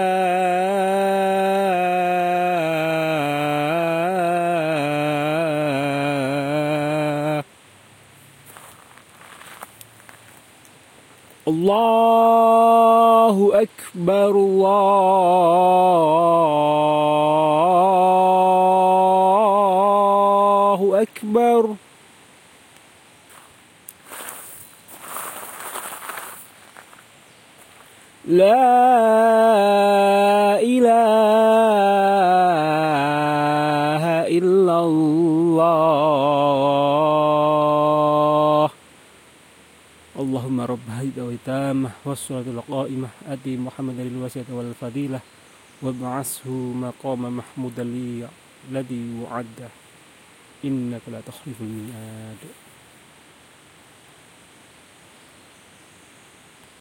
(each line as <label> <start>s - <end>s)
adhan 0.0s - 10.4s
river 0.0s - 56.8s
my footsteps 8.4s - 10.6s
adhan 11.2s - 21.8s
my footsteps 23.3s - 28.0s
adhan 23.3s - 53.6s
birds 24.1s - 28.4s